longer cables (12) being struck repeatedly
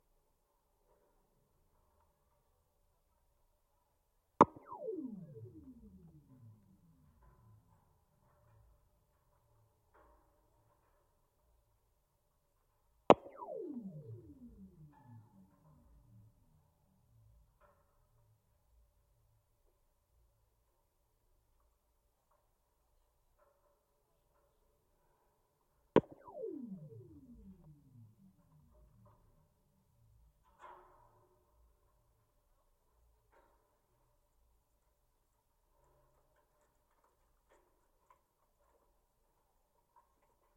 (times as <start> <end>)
4.4 7.7, 13.1 16.5, 26.0 29.4